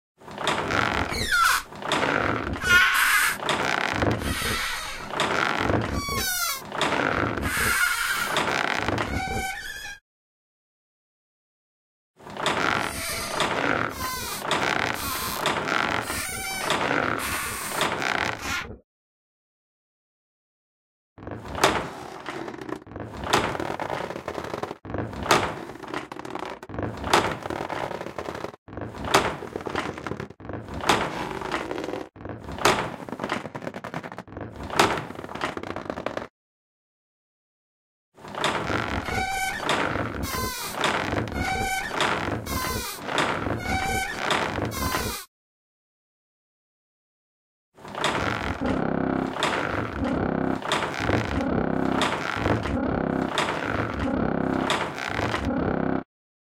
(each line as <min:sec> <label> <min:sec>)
0:00.3 squealing wooden crank / handle 0:10.0
0:12.3 squealing wooden crank / handle 0:18.7
0:38.2 squealing wooden crank / handle 0:45.3